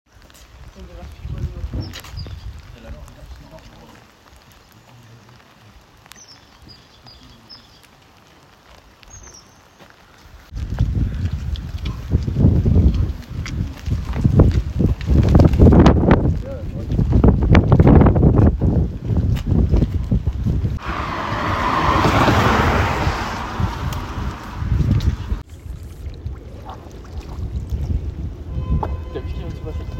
0.1s wind 29.9s
20.8s car slipping 25.4s

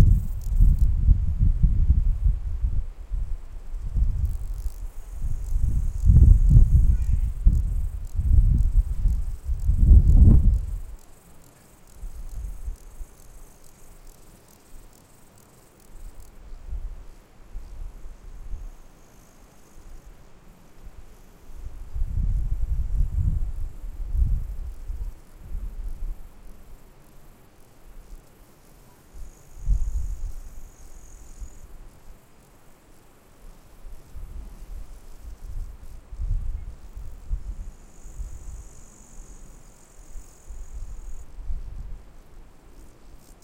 0.0s grasshoppers 43.4s

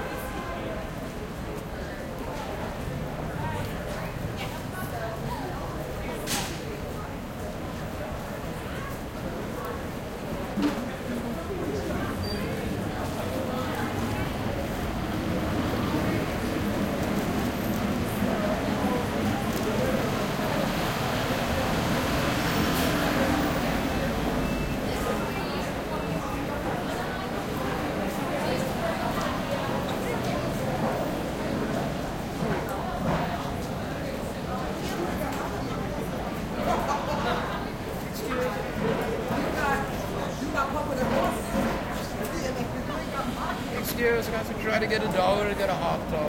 0.0s Traffic 46.2s
0.0s Voices 46.2s

